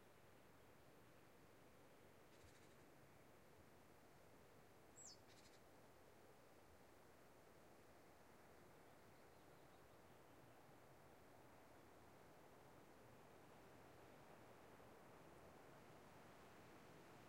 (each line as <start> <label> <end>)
0.0 wind through large pines 17.2
2.2 insects 3.2
4.9 insects 6.9